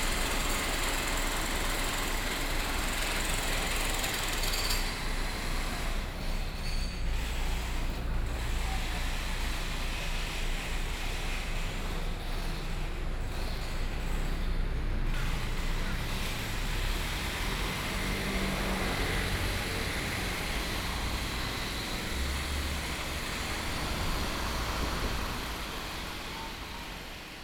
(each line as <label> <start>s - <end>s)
Construction noise 0.0s - 27.4s
traffic sounds 0.0s - 27.4s